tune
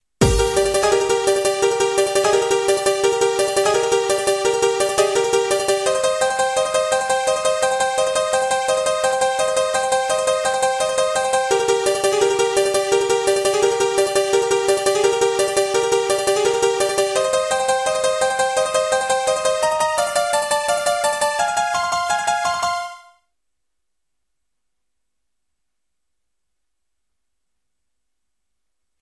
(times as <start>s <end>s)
0.2s 23.2s